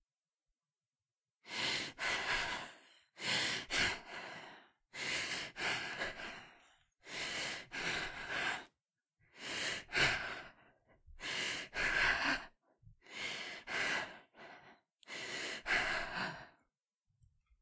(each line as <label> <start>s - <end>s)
Female Heavy Breathing 1.4s - 16.6s
Gasp 1.5s - 8.7s